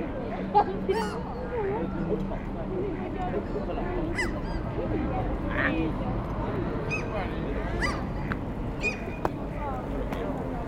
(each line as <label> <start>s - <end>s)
Black-headed Gull shouting 0.9s - 1.2s